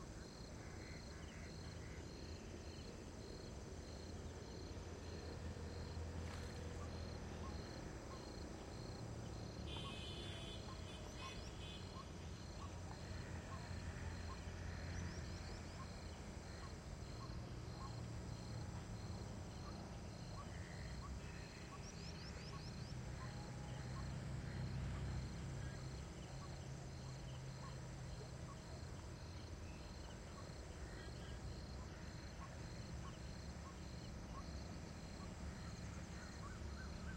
river 0:00.0 - 0:37.1
traffic in the distance 0:00.0 - 0:37.1

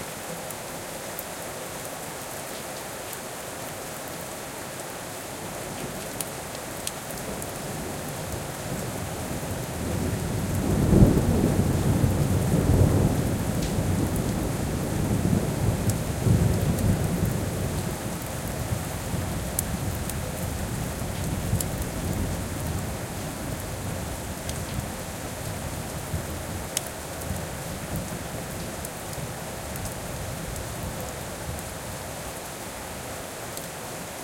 heavy rain 0:00.0 - 0:34.2
thunder 0:10.0 - 0:17.9

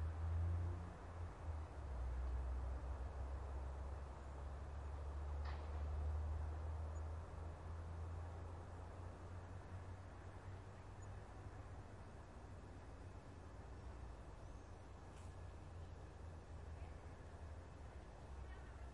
Distant road. Cars 0:00.0 - 0:18.9

